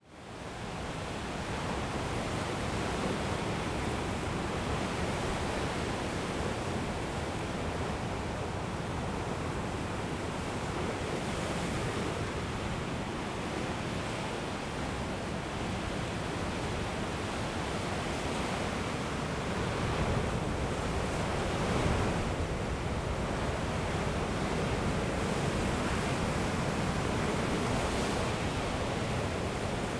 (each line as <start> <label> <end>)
0.0 wind 29.9
16.8 very high waves 29.9